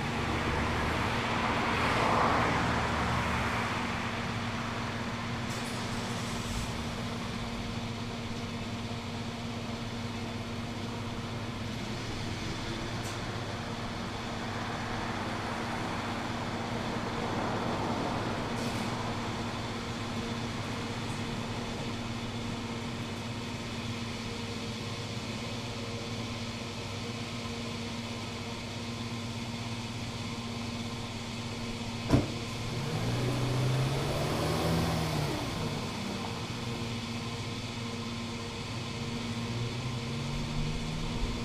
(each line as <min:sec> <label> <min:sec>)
0:00.0 traffic driving past 0:07.5
0:00.0 other cars coming and going 0:41.4
0:11.5 traffic driving past 0:22.9
0:30.5 filling car from petrol pump 0:37.7
0:30.9 traffic driving past 0:37.6